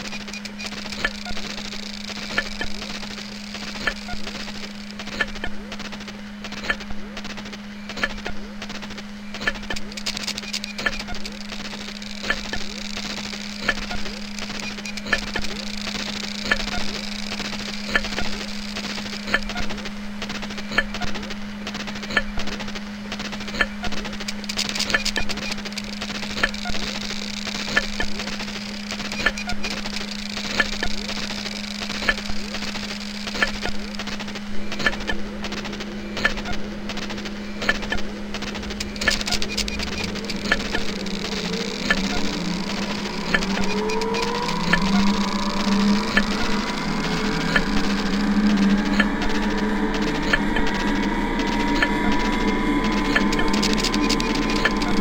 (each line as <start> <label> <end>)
24.3 Failing Hard Drives 55.0